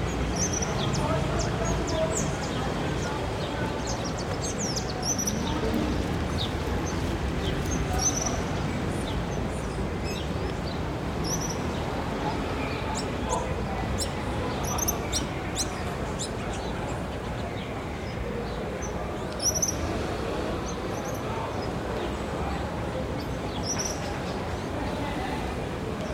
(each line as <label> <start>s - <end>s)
Movement of the shopping center in the background 0.0s - 26.1s
Birds singing 0.0s - 25.0s